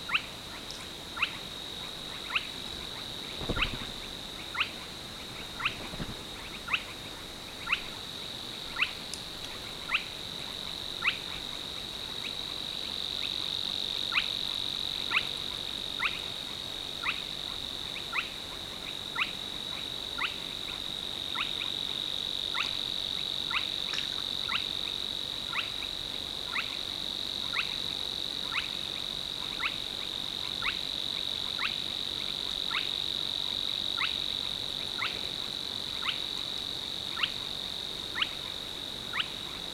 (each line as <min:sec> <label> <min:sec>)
0:00.0 bats 0:39.7
0:00.1 Spotted crakes 0:04.0
0:02.1 Savis warbler 0:07.9